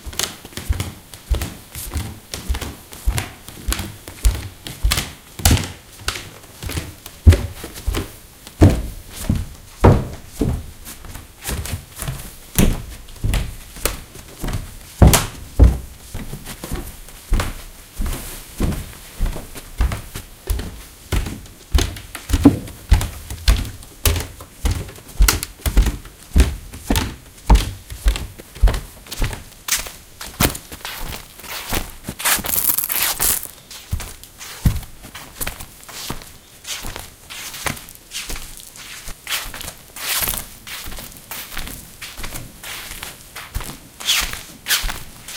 0.0s background noise 45.3s
0.0s clothes 45.3s
0.0s walking around on tatami and wooden floors 45.3s
30.4s handling noises 33.7s

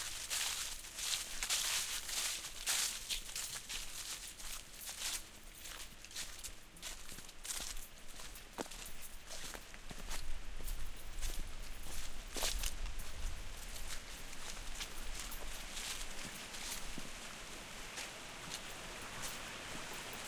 0.0s Footsteps in Dry Leaves 20.2s

